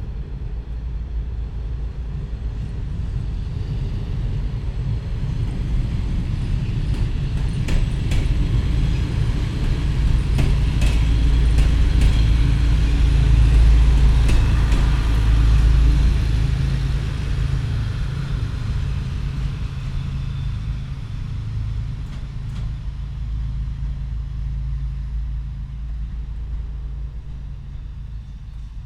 a train 0.0 - 28.8
sound from inside a factory buildung 6.8 - 28.8

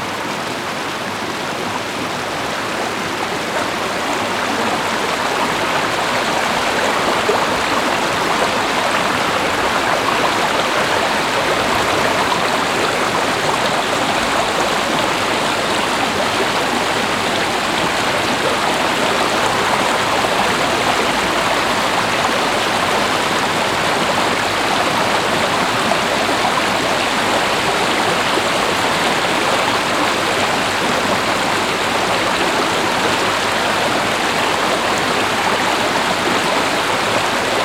small stream 0.0 - 37.6

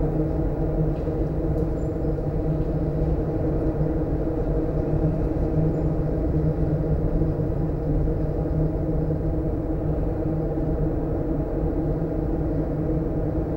wind (outside) 0.0 - 13.5

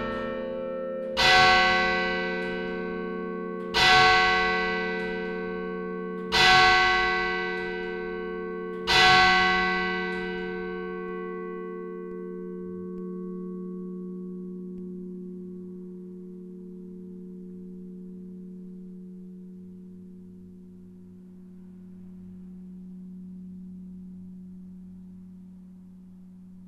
bells 0.0 - 26.6

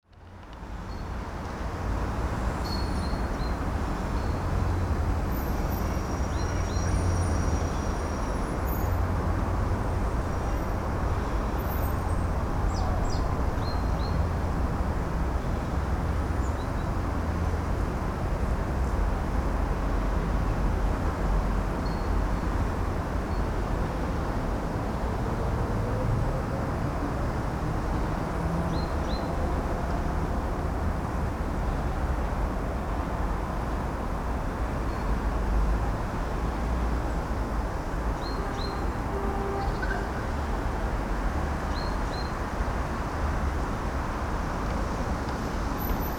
birds in citys cacophony 2.2 - 19.4
birds in citys cacophony 21.7 - 24.5
birds in citys cacophony 27.8 - 29.6
birds in citys cacophony 34.7 - 35.4
birds in citys cacophony 37.0 - 43.4

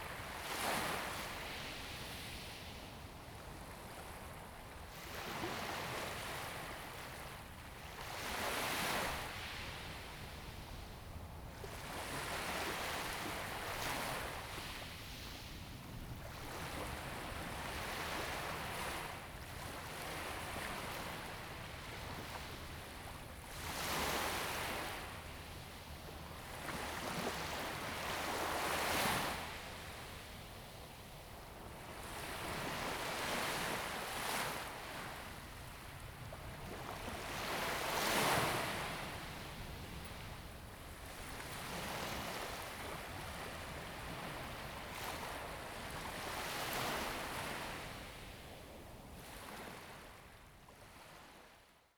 Waves 0.0 - 51.6

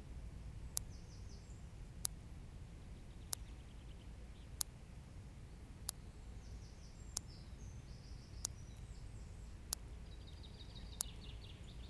electric fence makes tic tic tic 10.8 - 11.5

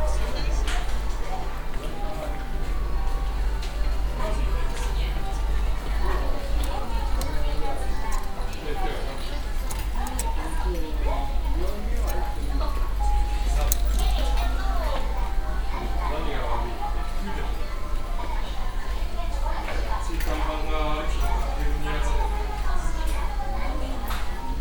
product announcements 0.0 - 17.6

